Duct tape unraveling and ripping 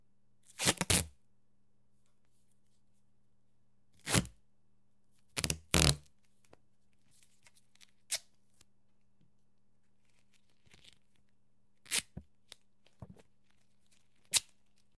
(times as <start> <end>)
5.4 6.1, 13.9 14.8